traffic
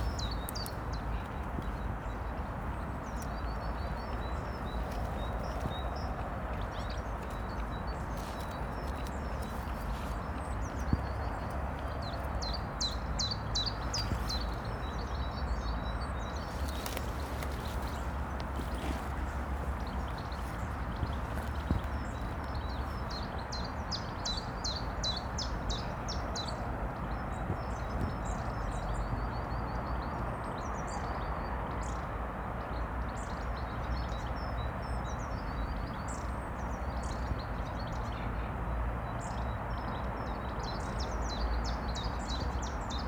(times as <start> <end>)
0.0 29.2